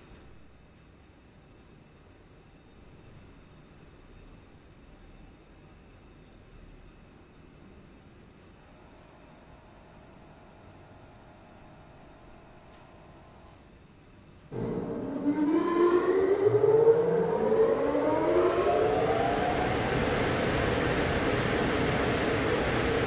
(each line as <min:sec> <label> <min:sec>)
0:14.5 Starting up industrial boiler 0:23.0